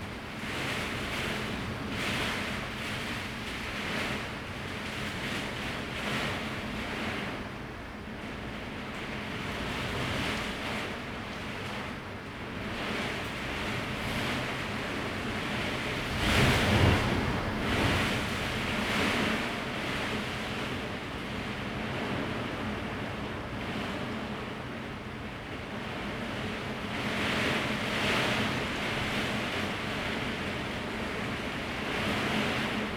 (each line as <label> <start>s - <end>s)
strong wind and rain 0.0s - 24.8s